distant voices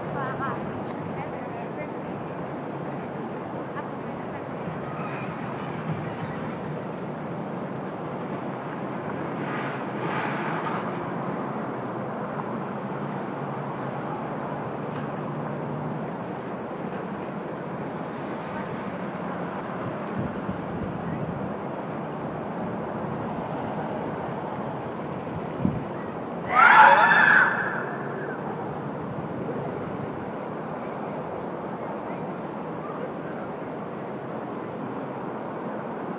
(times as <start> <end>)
25.8 33.8